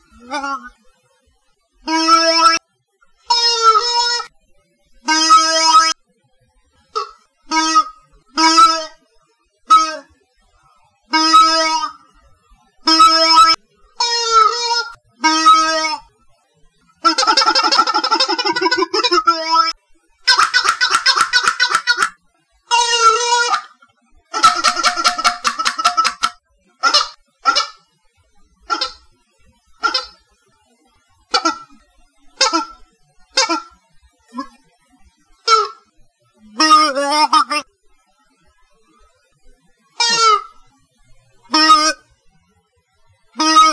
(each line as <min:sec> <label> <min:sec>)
0:00.1 wah wah toy 0:00.8
0:01.9 wah wah toy 0:02.7
0:03.3 wah wah toy 0:04.3
0:05.1 wah wah toy 0:06.0
0:06.9 wah wah toy 0:09.0
0:09.7 wah wah toy 0:10.1
0:11.1 wah wah toy 0:12.1
0:12.9 wah wah toy 0:16.1
0:17.0 wah wah toy 0:27.8
0:28.6 wah wah toy 0:29.1
0:29.8 wah wah toy 0:30.2
0:31.3 wah wah toy 0:31.8
0:32.4 wah wah toy 0:34.6
0:35.4 wah wah toy 0:37.7
0:40.0 wah wah toy 0:40.6
0:41.4 wah wah toy 0:42.0
0:43.4 wah wah toy 0:43.7